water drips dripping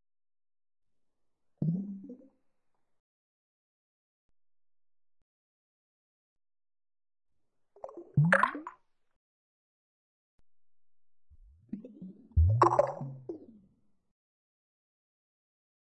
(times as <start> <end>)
12.4 13.1